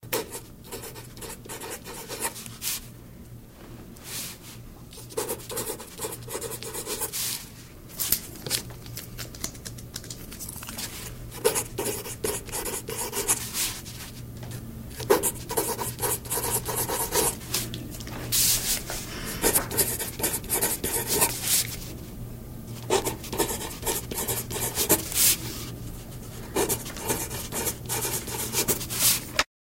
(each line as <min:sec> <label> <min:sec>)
0:00.1 Handwriting on paper 0:02.4
0:05.0 Handwriting on paper 0:07.1
0:11.4 Handwriting on paper 0:13.4
0:15.0 Handwriting on paper 0:17.4
0:19.4 Handwriting on paper 0:21.4
0:22.8 Handwriting on paper 0:25.3
0:26.6 Handwriting on paper 0:29.2